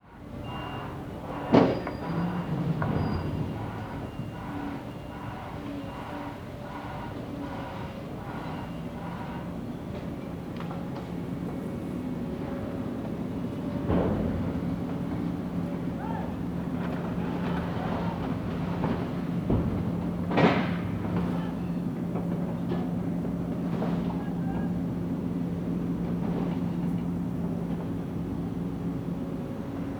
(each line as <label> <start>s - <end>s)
Distant Shouting 15.8s - 18.6s
Distant Shouting 21.0s - 22.2s